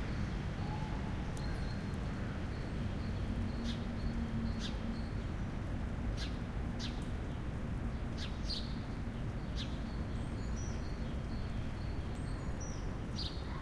constant rumble of main street 0.0 - 13.6
light rain almost mist 0.0 - 13.6

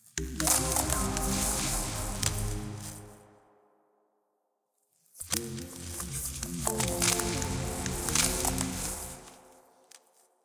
Melodic Cracking Texture 0.2 - 3.2
Melodic Cracking Texture 5.3 - 10.3

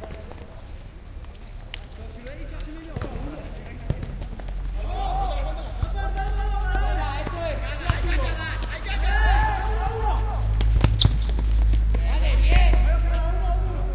ball 0.0 - 0.6
vehicles that happen about the playground 0.0 - 13.9
Players are listened shouting and encouraging between them 1.8 - 10.7
ball 2.8 - 13.2
Players are listened shouting and encouraging between them 11.9 - 13.9

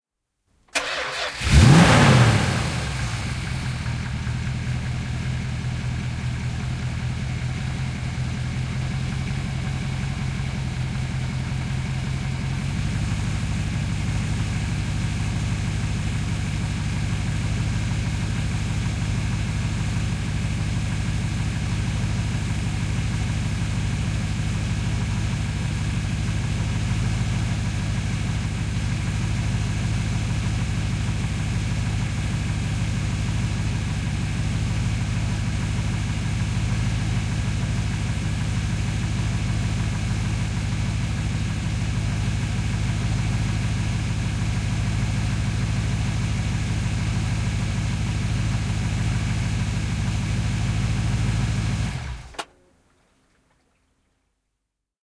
A car 0.4 - 53.6
engine shut down 0.8 - 52.5

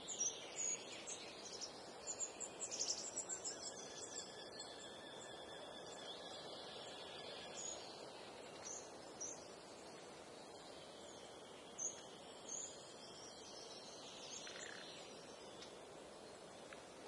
Blackbird 0.0 - 9.6
breeze on trees 0.0 - 17.0
Blackbird 10.5 - 15.7

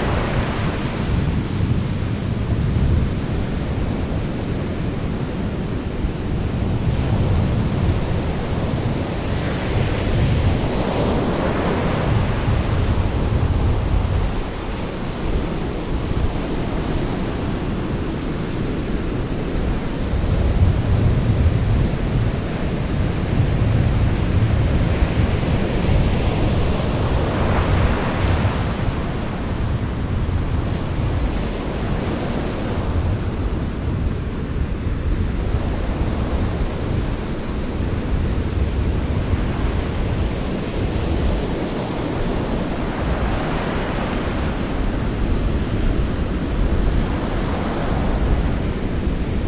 Waves 0.0 - 49.4

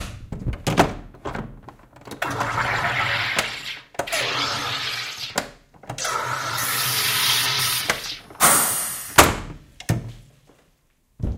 gas hiss 6.0 - 9.2

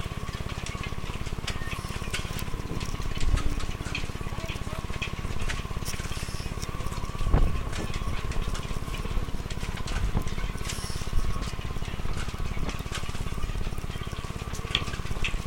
wind 0.0 - 15.4
Yachts in the wind 1.3 - 15.4
voices 1.4 - 11.9

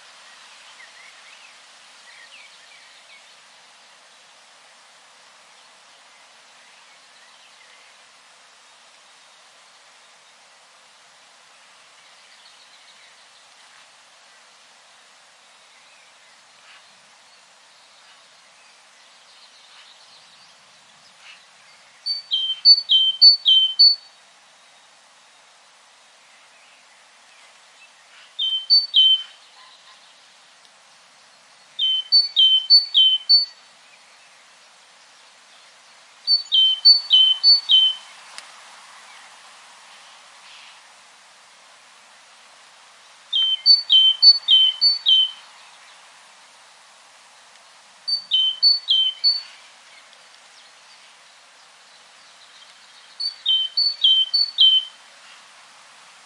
Great Tit twittering its song 22.0 - 24.0
Great Tit twittering its song 28.4 - 29.3
Great Tit twittering its song 31.8 - 33.6
Great Tit twittering its song 36.3 - 38.0
Great Tit twittering its song 43.3 - 45.3
Great Tit twittering its song 48.1 - 49.6
Great Tit twittering its song 52.4 - 54.9

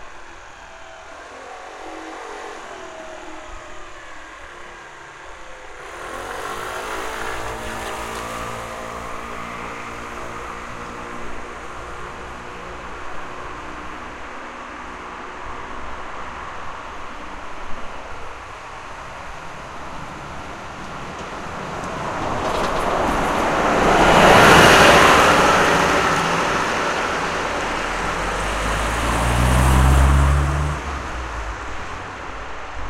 Airplane 0.0 - 15.9
City Bus 0.0 - 32.8

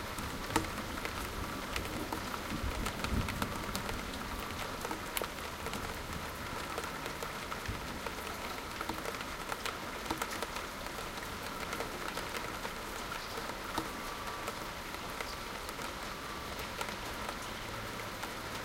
rain is becoming much heavier now 0.0 - 18.6
traffic 3.7 - 18.6
water drops on the window ledge 6.6 - 16.0

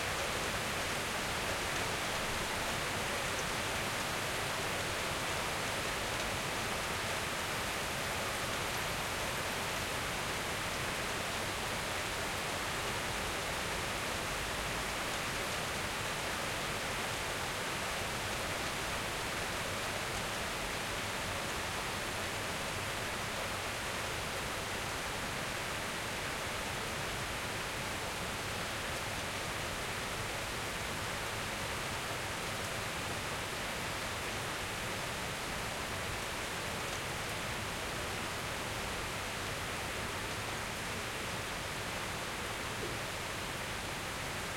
rain 0.0 - 44.5

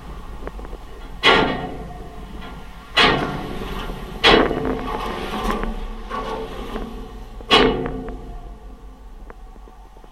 traffic-side pedestrian safety rail 0.0 - 10.1

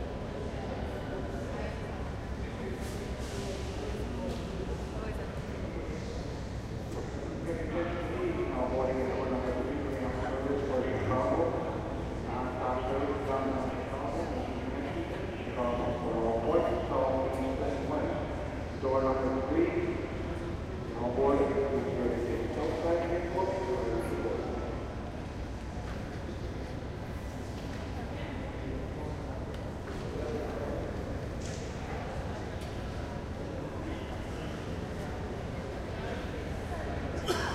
train 24.1 - 28.6

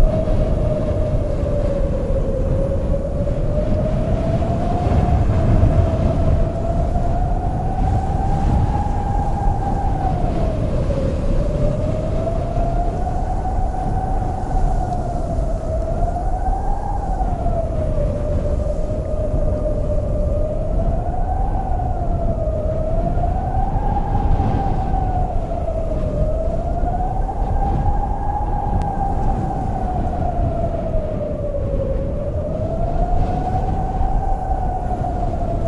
desert wind 0.0 - 35.6
low earth rumbling 0.0 - 35.6
wind rustling a dry corn field 0.0 - 35.6

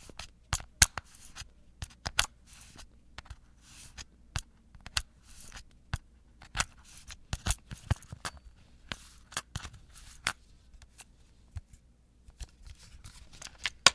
Cassette tape handling 13.1 - 13.9

